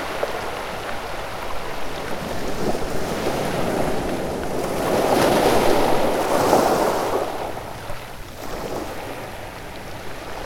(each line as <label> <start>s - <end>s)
waves from a ship 0.0s - 10.4s